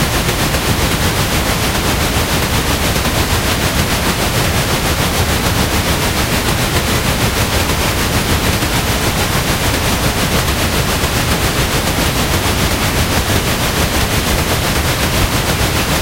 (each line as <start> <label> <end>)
0.0 Synthetic steam train 16.0